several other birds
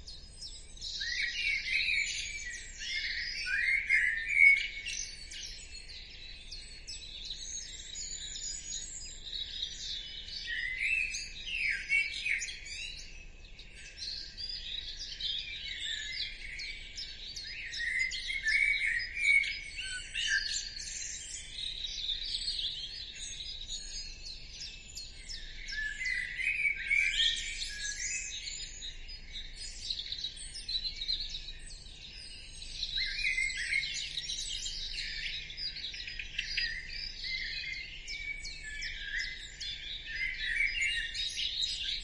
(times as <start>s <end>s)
13.8s 42.0s